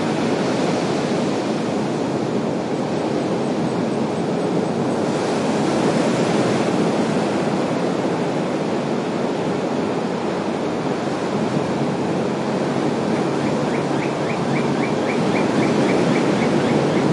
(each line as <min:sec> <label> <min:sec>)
0:00.0 waves on beach 0:17.1